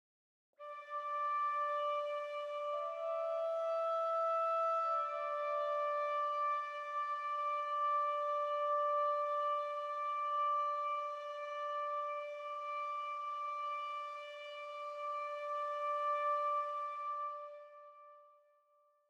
0.6s bansuri 18.7s

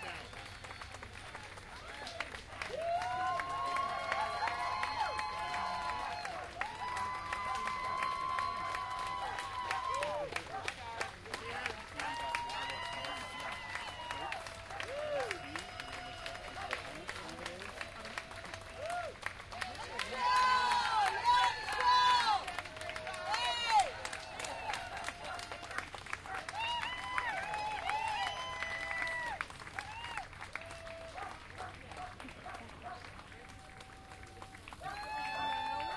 0.0s crowd applauding 35.9s
0.0s crowd cheer 35.9s
31.2s dog barking 33.0s

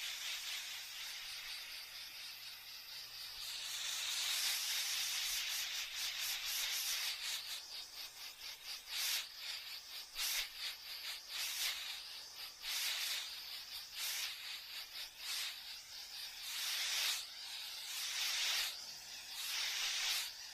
0.0s buzz 20.5s
16.4s tv static 18.7s
19.3s tv static 20.5s

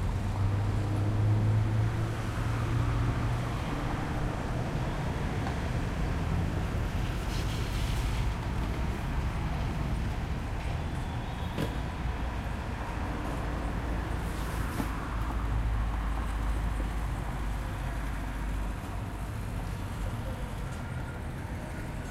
0.0s City hum 22.1s

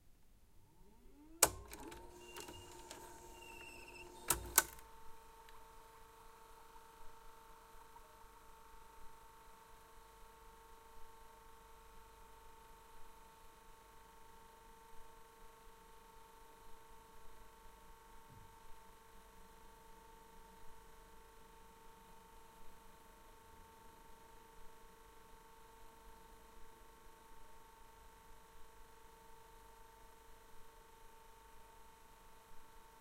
0.7s Playing a VHS cassette 5.6s

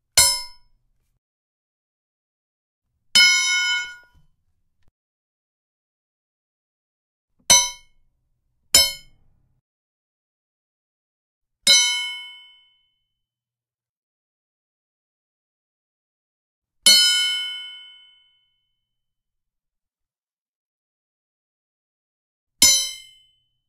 8.8s crowbar hits with zing 9.1s

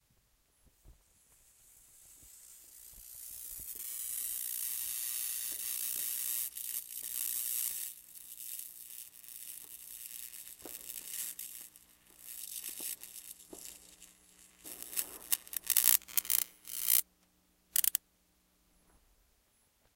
1.2s Bug Zapper Long moth electrocution 17.0s
2.2s fire crackers 17.0s
17.8s Bug Zapper Long moth electrocution 18.0s

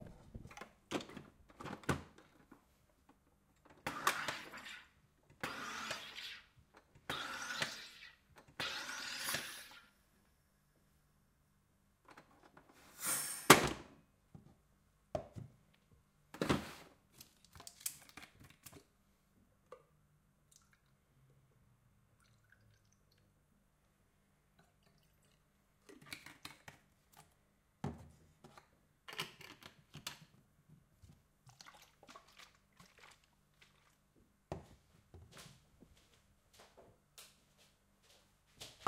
3.8s Making cola with a soda stream 9.9s
31.4s Making cola with a soda stream 34.2s

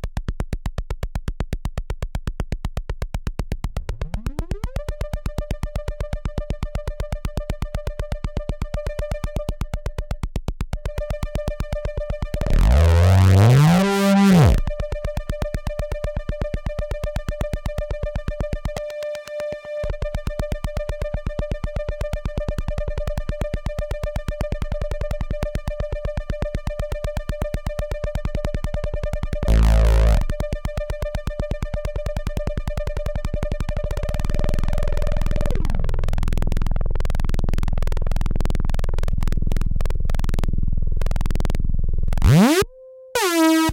3.9s Synthesizer 10.2s
10.8s Synthesizer 35.9s
42.2s Synthesizer 43.7s

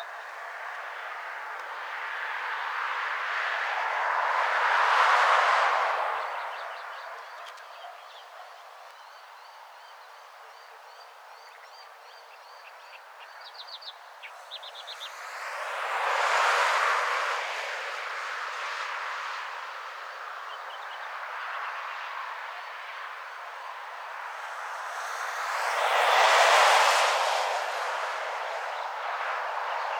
0.0s Vehicles travelling along a main road 29.9s
0.0s wind 29.9s
6.2s birds 16.6s

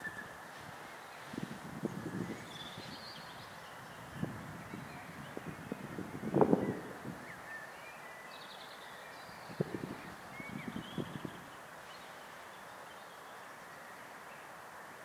0.0s wind hitting the microphone 7.6s
0.0s birds singing 14.6s
9.4s wind hitting the microphone 11.6s

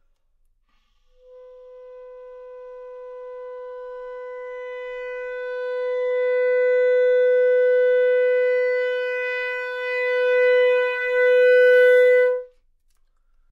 0.7s Clarinet 12.6s

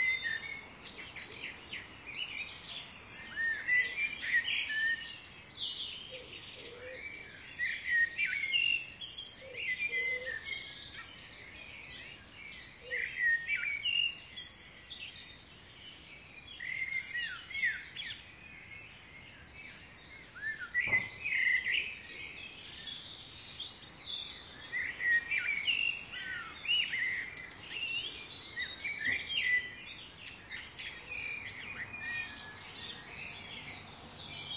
0.0s birdsong 34.5s
31.3s distant traffic sounds 34.5s

